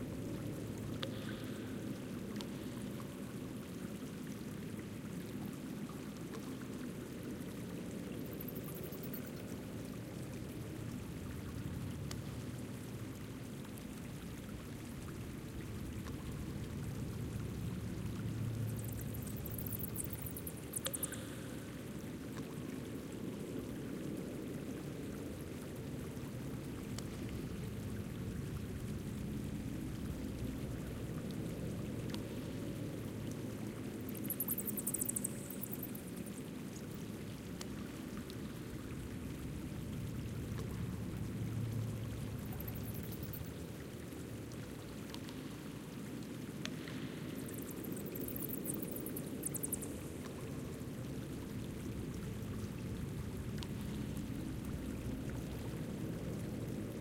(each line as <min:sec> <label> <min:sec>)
0:00.0 Small Stream 0:57.0
0:00.0 Wind 0:57.0
0:18.2 Water Drops 0:21.8